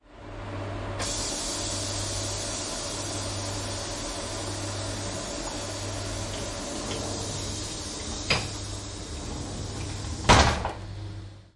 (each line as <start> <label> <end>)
1.0 pneumatic door closing on a tilt train 11.2